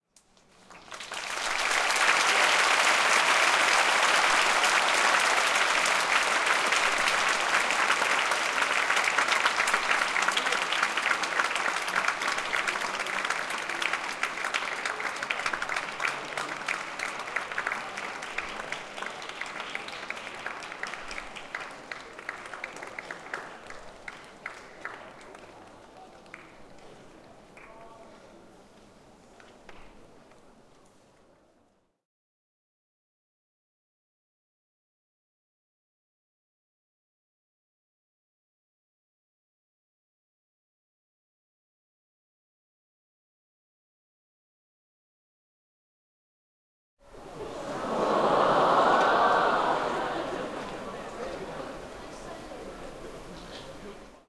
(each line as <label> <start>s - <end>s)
applause 0.3s - 28.2s
applause 47.1s - 54.2s